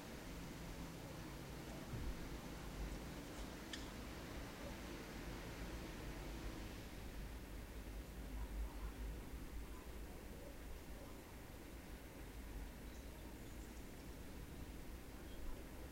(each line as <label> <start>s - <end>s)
birdsong 12.8s - 15.6s